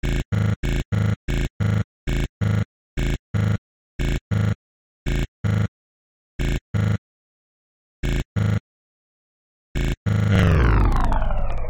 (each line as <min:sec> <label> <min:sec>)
0:00.0 8 bit heart beat 0:05.7
0:06.4 8 bit heart beat 0:07.0
0:08.0 8 bit heart beat 0:08.6
0:09.8 8 bit heart beat 0:11.6